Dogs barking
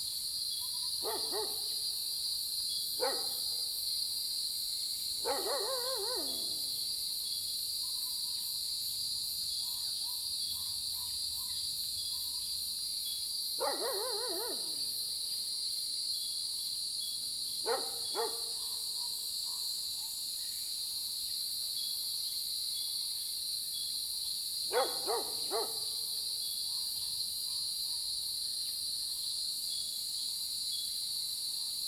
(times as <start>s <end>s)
1.0s 1.8s, 3.0s 3.6s, 5.2s 6.6s, 13.6s 14.8s, 17.7s 19.2s, 24.7s 26.1s